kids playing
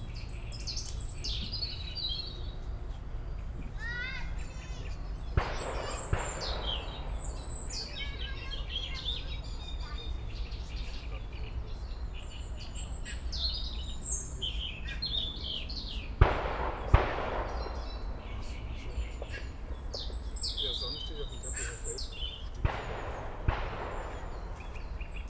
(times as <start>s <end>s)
3.6s 13.6s, 16.7s 25.2s